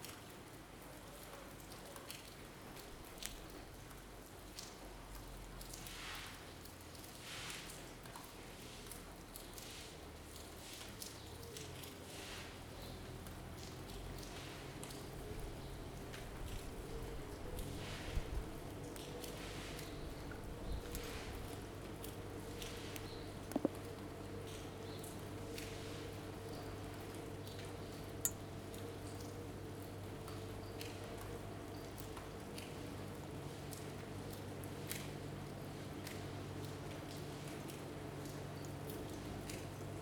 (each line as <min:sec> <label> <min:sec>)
0:00.0 Rain 0:40.0